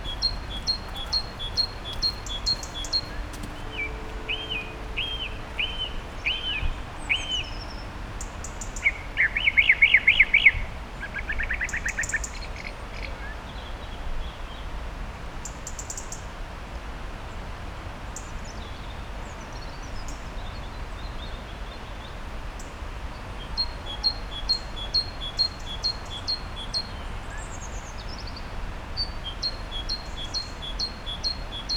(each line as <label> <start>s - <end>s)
background noise of voices 0.0s - 4.1s
great tit 0.0s - 6.6s
actual bird calls 0.0s - 7.8s
traffic 0.0s - 8.6s
song thrush 0.0s - 13.3s
song thrush 23.1s - 31.7s